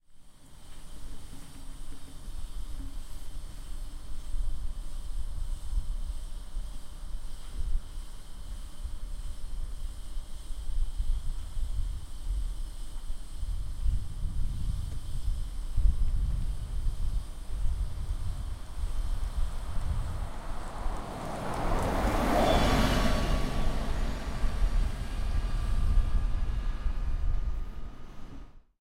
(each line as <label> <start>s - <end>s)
Traffic 17.4s - 28.6s
bus passing 17.4s - 28.6s